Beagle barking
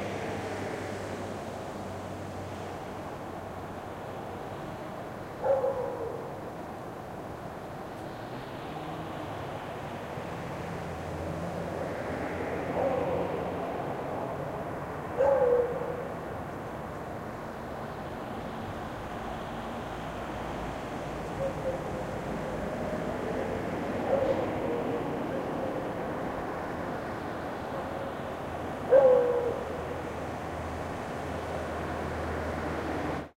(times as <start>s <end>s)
5.4s 6.3s, 12.8s 13.3s, 15.2s 16.1s, 24.0s 25.7s, 28.9s 29.7s